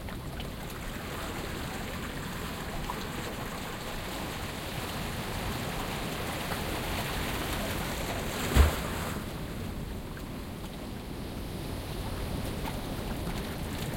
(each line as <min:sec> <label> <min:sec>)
0:00.0 distant waves 0:13.9
0:00.0 water streaming through a small canal in the rocks 0:13.9